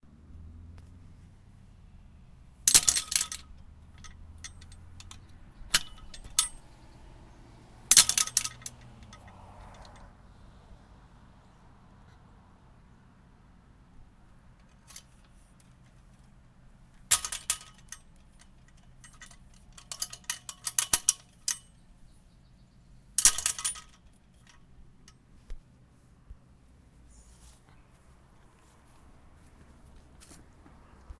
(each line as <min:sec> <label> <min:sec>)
0:02.5 metal outdoor gate latch opening and closing 0:10.1
0:14.3 metal outdoor gate latch opening and closing 0:22.0
0:23.1 metal outdoor gate latch opening and closing 0:25.3